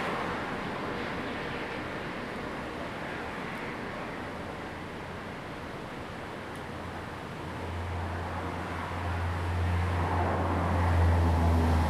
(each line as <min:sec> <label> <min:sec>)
0:08.8 Traffic Sound 0:11.8